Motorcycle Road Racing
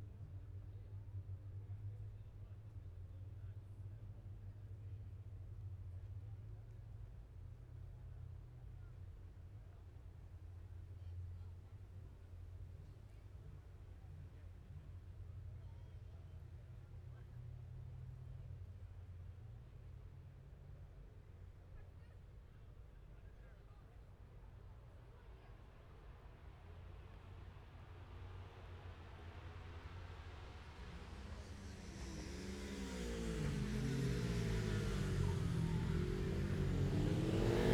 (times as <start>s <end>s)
28.3s 37.7s